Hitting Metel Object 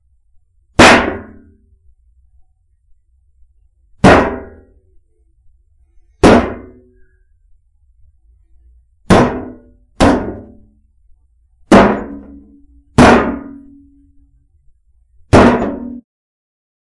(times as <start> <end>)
11.7 13.9, 15.3 16.0